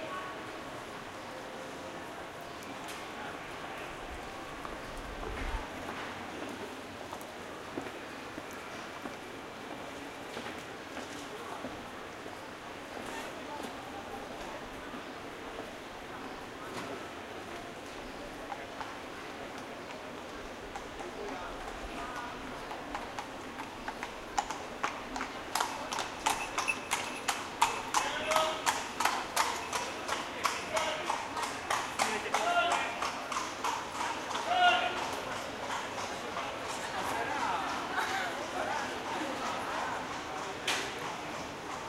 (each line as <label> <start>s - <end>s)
horse-drawn cab 12.9s - 41.8s